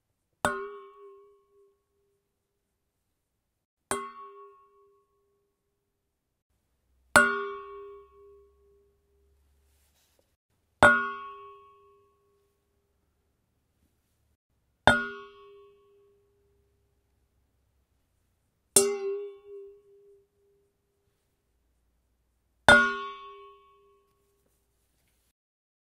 0.4s bowl 2.3s
3.9s bowl 5.7s
7.0s bowl 10.0s
10.8s bowl 12.8s
14.8s bowl 17.2s
18.7s bowl 21.1s
22.6s bowl 24.7s

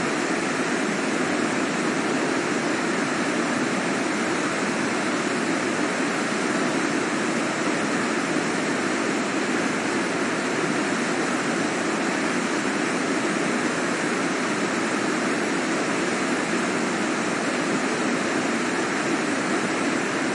0.0s Noise of the Ayasse Torrent 20.3s

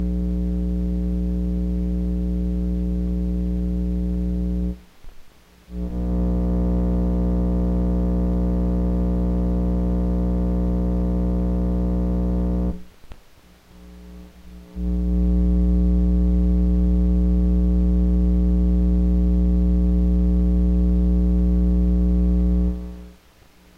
0.0s hum 23.7s

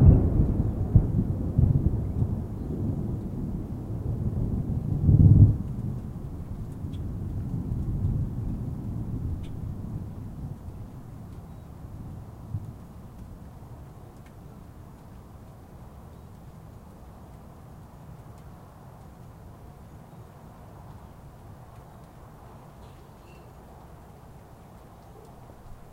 0.0s thunder 10.7s
0.0s rain 25.9s

